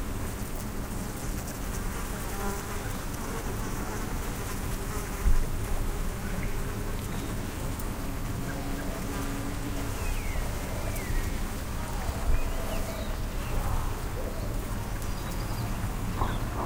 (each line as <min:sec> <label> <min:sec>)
0:00.0 Garden Bees 0:16.6
0:06.1 birds 0:16.6